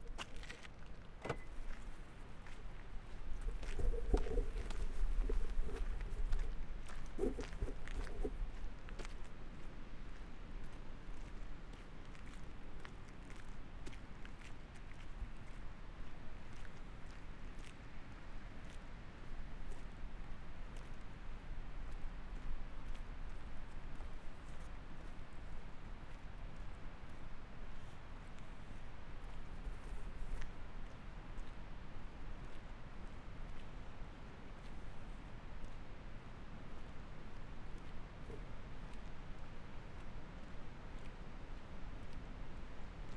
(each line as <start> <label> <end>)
0.0 Walking 9.1